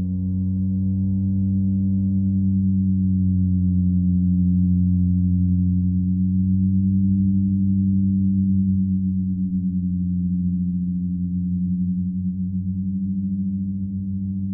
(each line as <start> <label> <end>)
0.0 drone 14.5